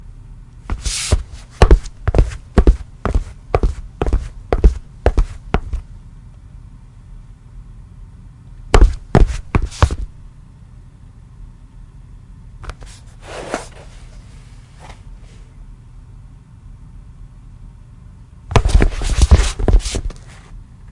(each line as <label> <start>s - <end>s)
walking footsteps tennis shoes tile floor 0.7s - 5.8s
walking footsteps tennis shoes tile floor 8.8s - 10.2s